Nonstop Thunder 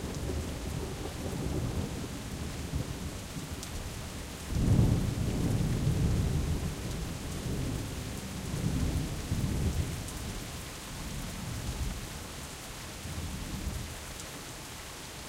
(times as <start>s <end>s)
0.0s 3.5s, 4.5s 10.4s